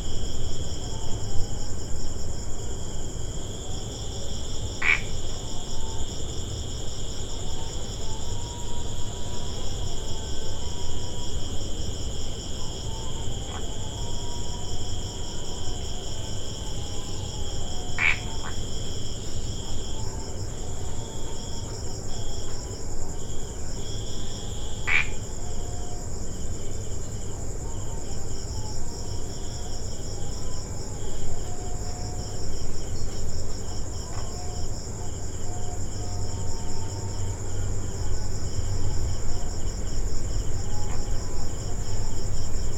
crickets 0:00.0 - 0:42.7
just one frog making calls 0:04.8 - 0:05.1
just one frog making calls 0:18.0 - 0:18.6
just one frog making calls 0:24.8 - 0:25.2

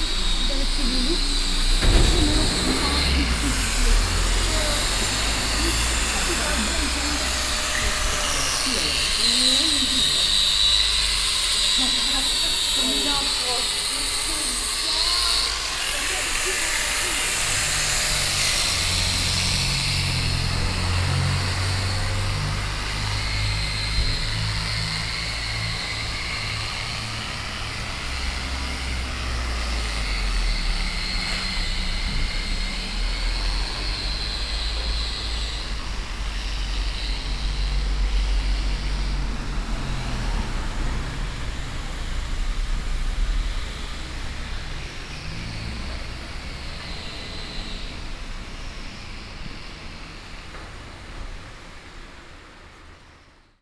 Grinders all around 0:00.0 - 0:53.6

